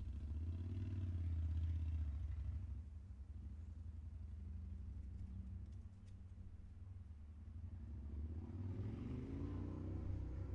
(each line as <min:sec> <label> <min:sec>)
0:00.0 Drive by motorcycle 0:03.6
0:07.6 Drive by motorcycle 0:10.5